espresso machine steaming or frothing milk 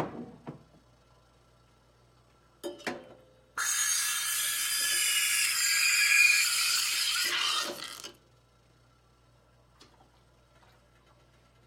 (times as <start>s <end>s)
3.6s 8.1s